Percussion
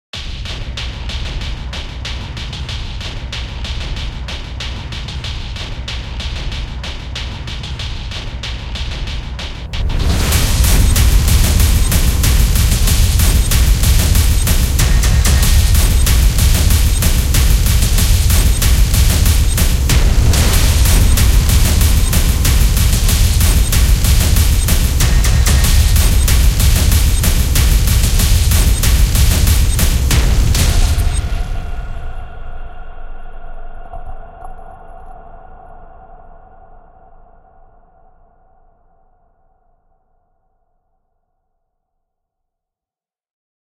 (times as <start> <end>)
0.2 32.3